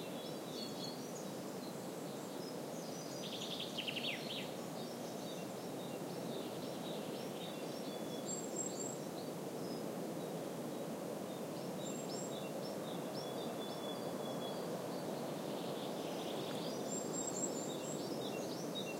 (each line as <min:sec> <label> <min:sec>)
0:00.0 birds singing 0:09.8
0:00.0 soft murmur of wind on the trees 0:18.9
0:11.3 birds singing 0:18.9